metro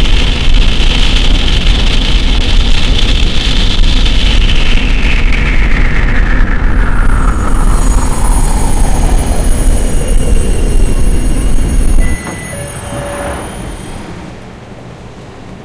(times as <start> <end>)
6.3 15.6